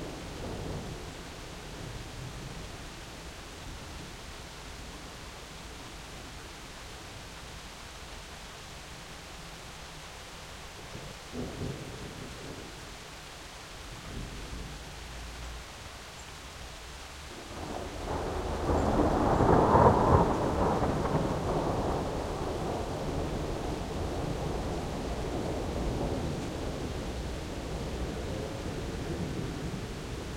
rain 0:00.0 - 0:30.3
thunderclap 0:17.6 - 0:30.0

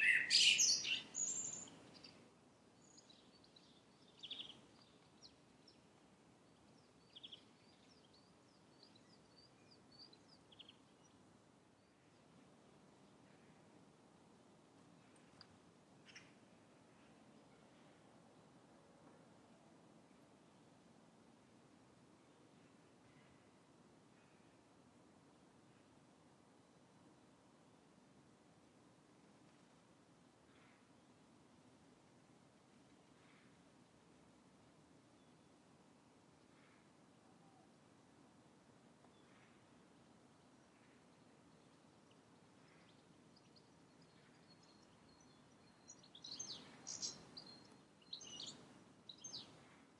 magpie 0:00.0 - 0:01.8
Birds Singing 0:00.0 - 0:02.2
Birds Singing 0:02.8 - 0:05.8
Birds Singing 0:41.6 - 0:49.6

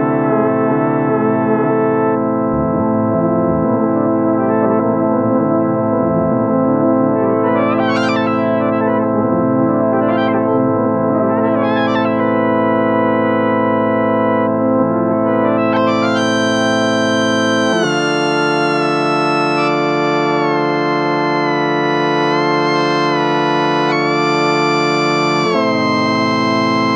Synth Jam 0:01.4 - 0:14.5

